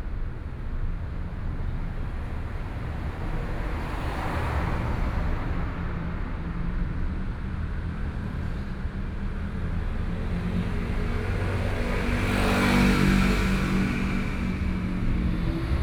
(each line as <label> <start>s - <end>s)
Traffic noise 0.0s - 15.8s